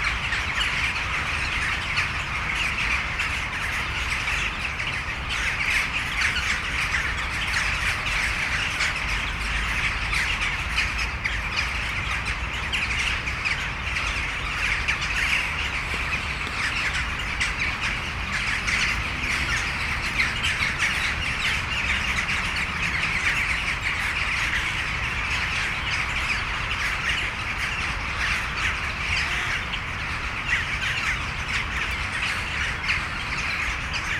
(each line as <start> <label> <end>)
0.0 huge flock of jackdaws sitting in the trees 34.1